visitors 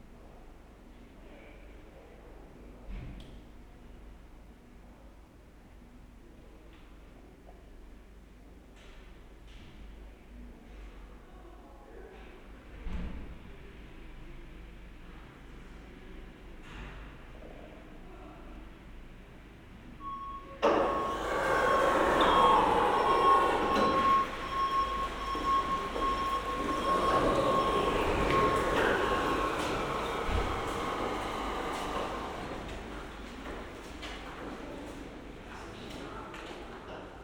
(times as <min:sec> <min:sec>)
0:20.6 0:35.2